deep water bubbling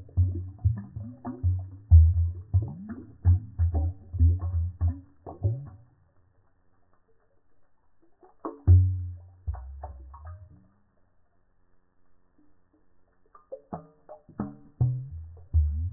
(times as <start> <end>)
0.0 6.1, 8.2 10.7, 13.4 15.9